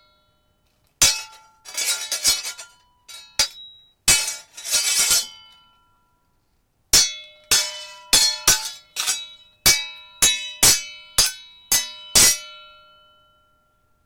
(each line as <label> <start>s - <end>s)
Swords clashing in a fight 1.0s - 5.6s
Swords clashing in a fight 6.9s - 12.9s